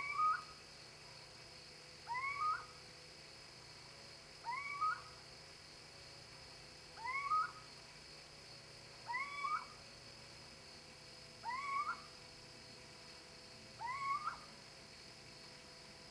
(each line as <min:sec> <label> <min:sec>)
0:00.0 little-owl (Athene noctua) hooting 0:00.6
0:02.0 little-owl (Athene noctua) hooting 0:02.8
0:04.4 little-owl (Athene noctua) hooting 0:05.2
0:07.0 little-owl (Athene noctua) hooting 0:07.7
0:09.0 little-owl (Athene noctua) hooting 0:09.8
0:11.4 little-owl (Athene noctua) hooting 0:12.2
0:13.8 little-owl (Athene noctua) hooting 0:14.6